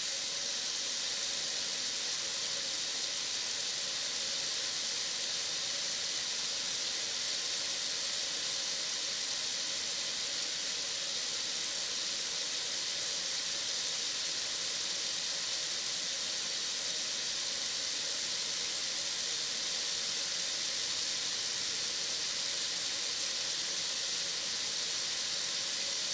0.0s opened water faucet in a steel sink 26.1s

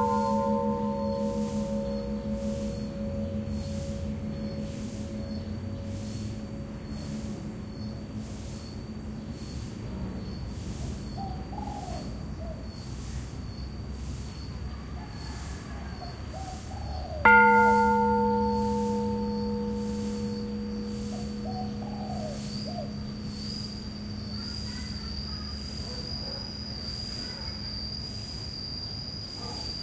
0.0s temple bells 9.5s
0.0s crickets 29.8s
17.2s temple bells 26.3s

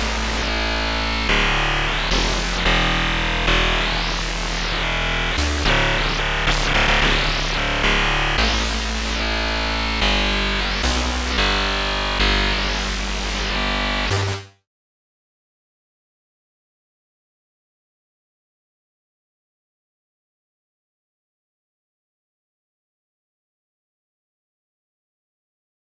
0.0s Static 14.4s

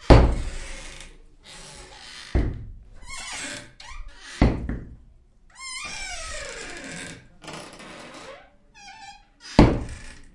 0.0s door hit 0.7s
0.0s wood door closet cabinet armoir open close creak 4.9s
2.3s door hit 2.8s
4.4s door hit 5.0s
5.6s wood door closet cabinet armoir open close creak 10.3s
9.6s door hit 10.0s

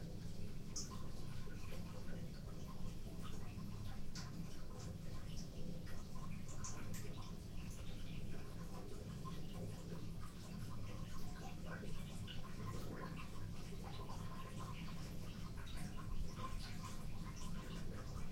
0.0s Draining water from free-standing bathtub 18.3s

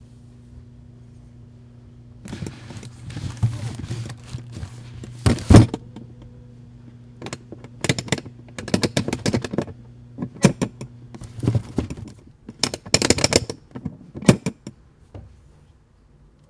2.3s shuffling papers 5.8s
11.2s shuffling papers 12.2s

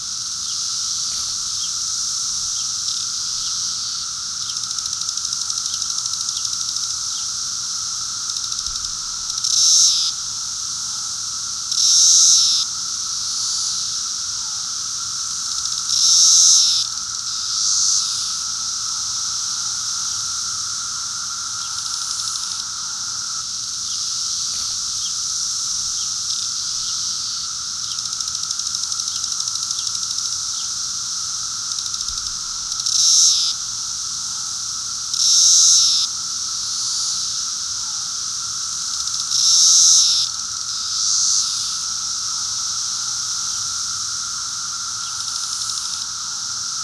0.0s close, mid and far 17 year cicadas 46.8s

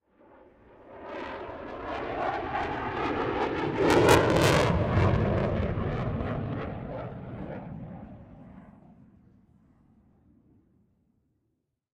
0.2s Eurofighter Typhoon Flyby 8.8s

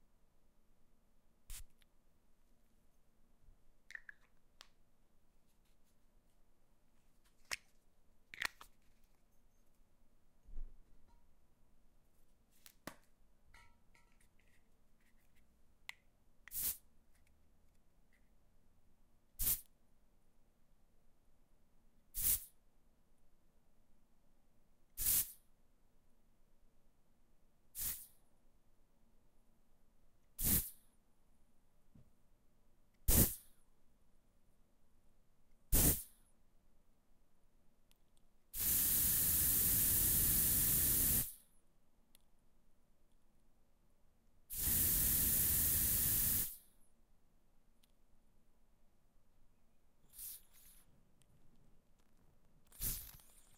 16.5s air freshener 16.8s
16.5s deodorant 16.8s
30.4s air freshener 30.7s
33.1s air freshener 33.4s
33.1s deodorant 33.4s
35.7s deodorant 36.1s
35.8s air freshener 36.1s
38.6s air freshener 41.4s
38.6s deodorant 41.4s
44.5s perfume 46.6s
44.5s air freshener 46.6s
44.5s deodorant 46.6s
50.1s air freshener 50.8s
50.1s deodorant 50.8s
52.8s air freshener 53.4s
52.8s deodorant 53.5s

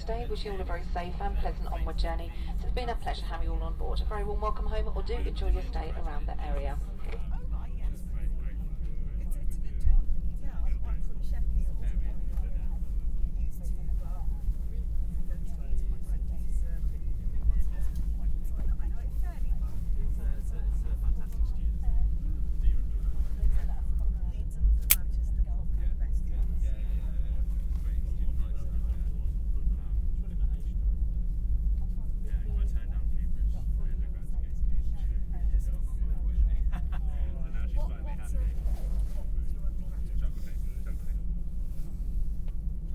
0.0s intercom announcements 7.3s
0.0s people talking 22.1s

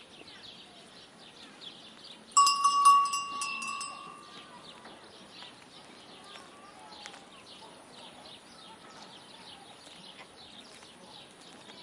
0.0s Birds singing 11.8s
2.4s cowbells 4.6s

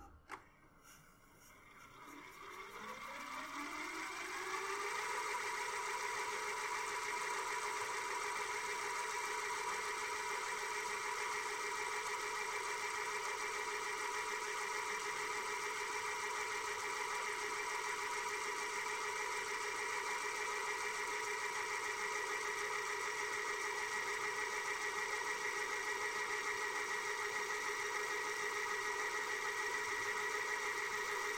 0.0s rewind 10.0s
1.6s vcr fastforward 31.3s

